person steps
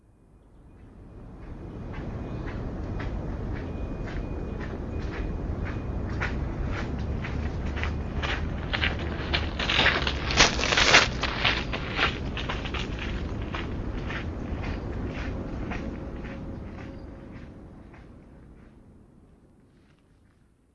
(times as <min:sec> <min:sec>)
0:04.1 0:18.8